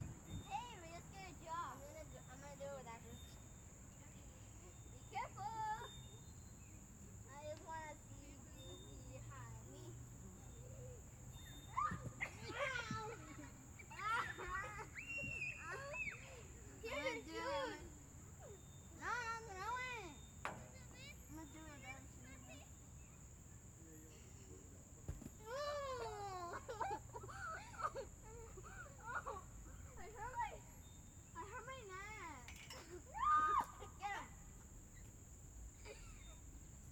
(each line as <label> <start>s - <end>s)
Children playing 11.6s - 22.8s